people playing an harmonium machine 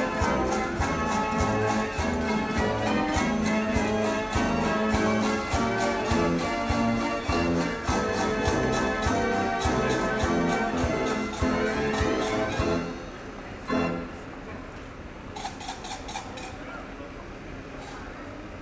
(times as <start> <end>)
0.0 14.2